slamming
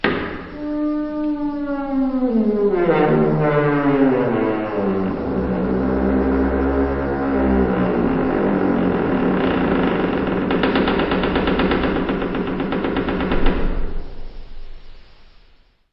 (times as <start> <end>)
0.0 5.2